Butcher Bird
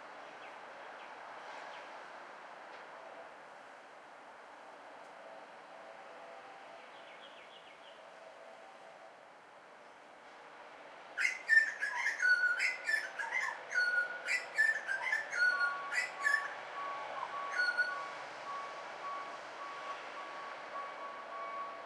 11.2 16.6

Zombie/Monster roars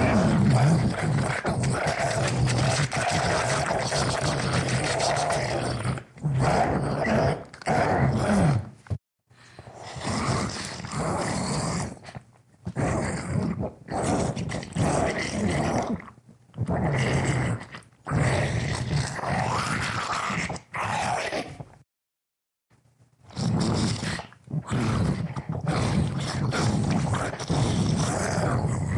0.0 8.6, 12.8 16.0, 16.6 21.6, 23.4 28.9

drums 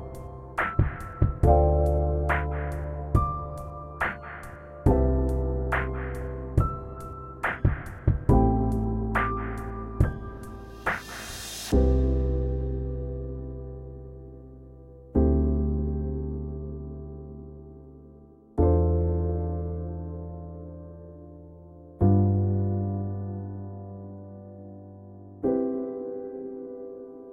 0.0 12.0

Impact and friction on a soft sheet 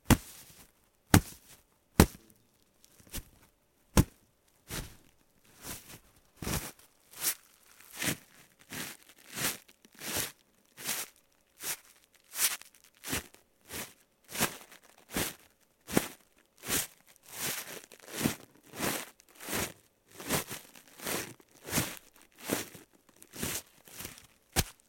0.0 2.2, 3.0 8.2

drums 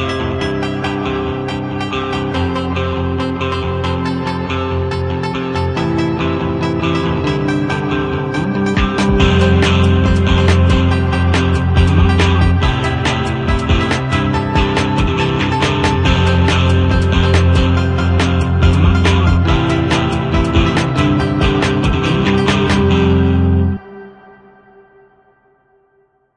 8.8 23.0

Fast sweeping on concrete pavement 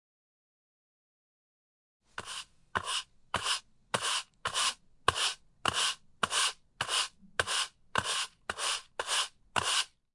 2.2 10.0

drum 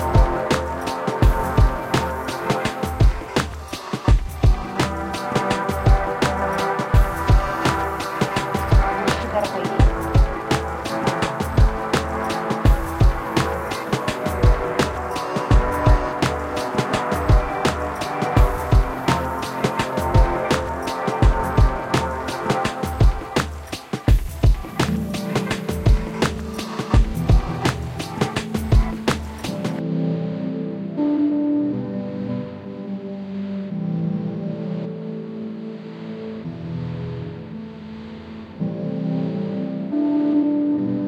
0.0 29.8

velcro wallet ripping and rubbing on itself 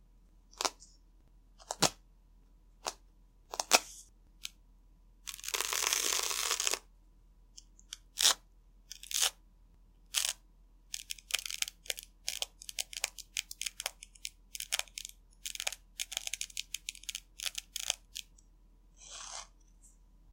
5.3 6.8, 11.0 18.3

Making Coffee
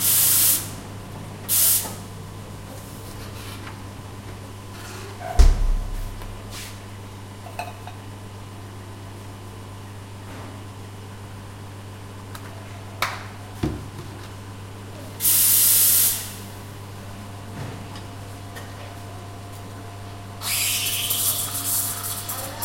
20.4 22.6

